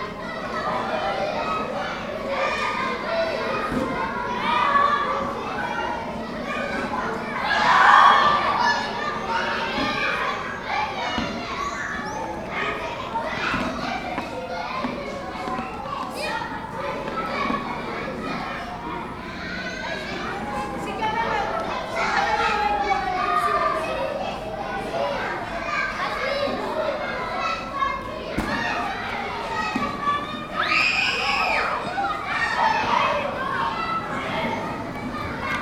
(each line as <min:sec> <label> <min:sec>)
0:00.0 Schoolchildren in Recreation 0:35.6